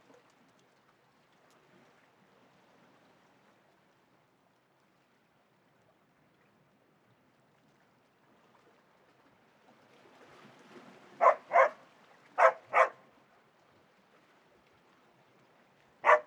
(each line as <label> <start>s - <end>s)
they were barking at the water 11.2s - 13.1s
they were barking at the water 16.0s - 16.2s